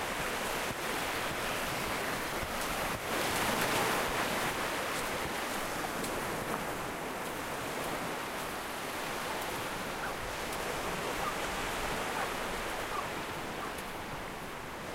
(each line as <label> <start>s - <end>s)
waves 0.0s - 14.9s
dogs barking 12.1s - 13.8s